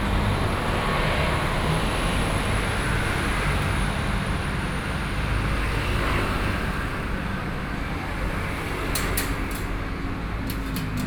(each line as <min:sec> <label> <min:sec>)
0:02.7 Fried chicken shop 0:11.0